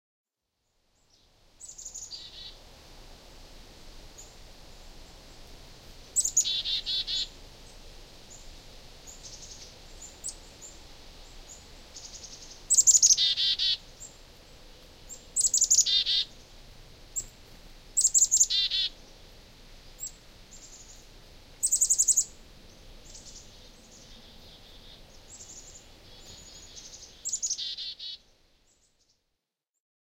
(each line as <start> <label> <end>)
0.3 wind 29.6
6.2 chickadees calling one another 7.3
12.0 chickadees calling one another 13.8
15.4 chickadees calling one another 16.4
18.0 chickadees calling one another 19.0
21.6 chickadees calling one another 22.3
23.0 chickadees calling one another 28.2